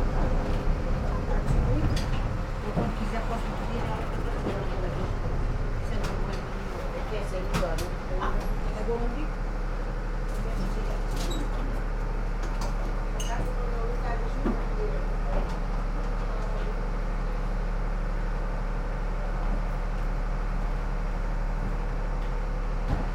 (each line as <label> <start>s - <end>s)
people waiting for departure 0.0s - 18.3s
tram climbs up this very steeply part of the street 0.0s - 23.1s